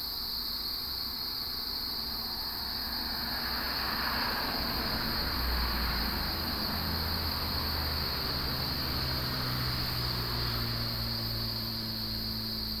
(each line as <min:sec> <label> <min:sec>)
0:00.0 Cicadas 0:12.8
0:02.1 Traffic sound 0:12.8